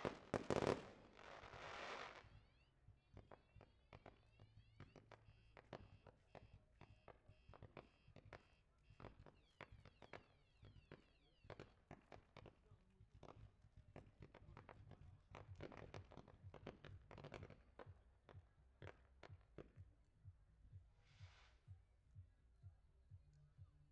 0.0s FireWorks 2.6s

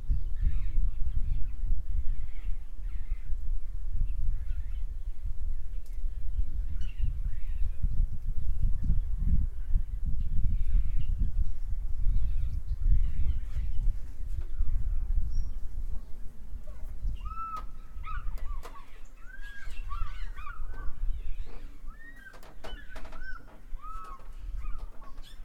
0.0s birds 25.4s

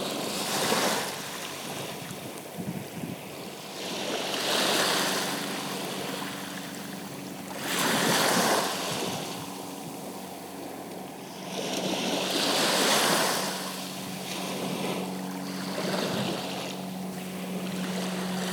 0.0s sea 18.5s

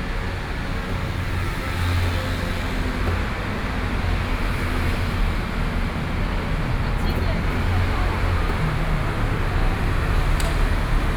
0.1s Traffic noise 11.1s

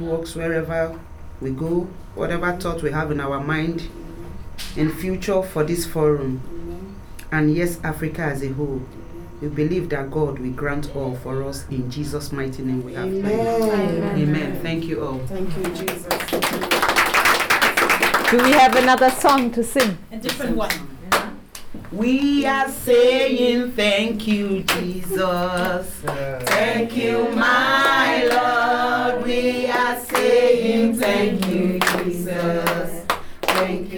21.8s closing prayers and songs 33.9s

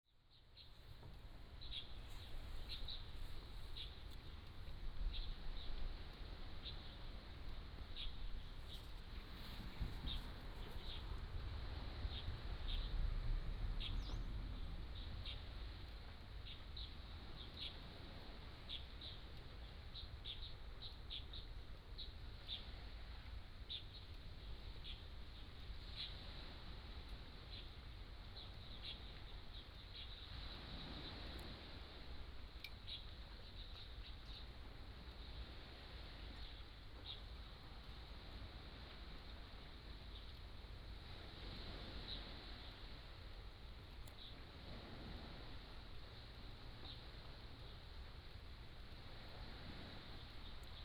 0.3s Birdsong 11.2s
0.6s waves 50.8s
11.9s Birdsong 13.1s
13.7s Birdsong 31.5s
32.6s Birdsong 35.4s
36.2s Birdsong 37.4s
46.8s Birdsong 47.8s

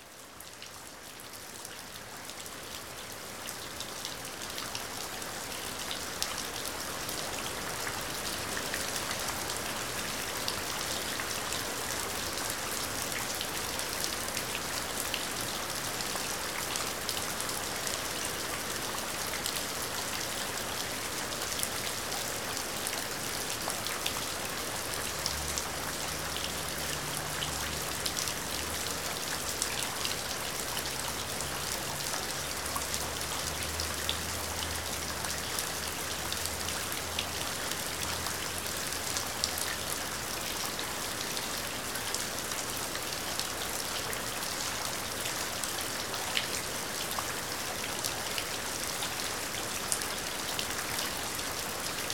0.1s rain splashing into puddles 52.1s

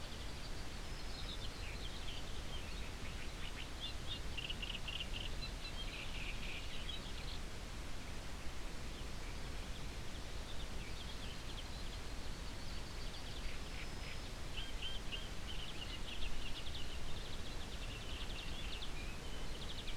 0.0s morning birds 19.9s

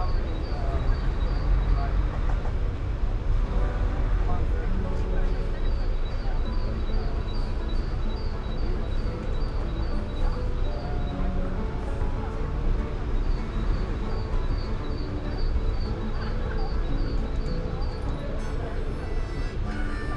0.0s byciclists 20.1s
0.0s noise of a nearby construction site 20.1s
17.8s singer 20.1s

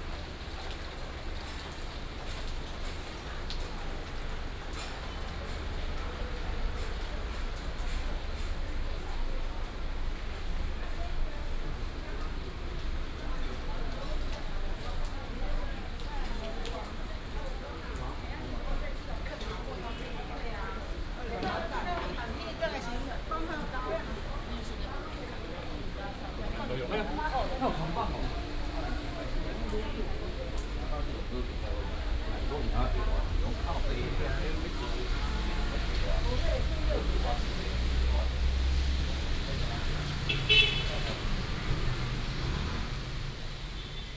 0.0s Rainy day 44.1s
19.2s Traffic sound 44.1s

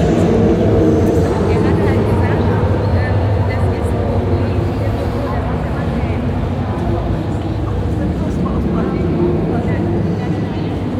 0.0s exhibition visitors 10.9s

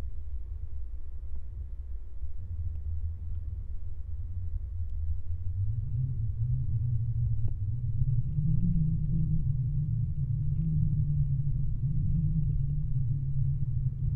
5.0s Strong wind 14.1s

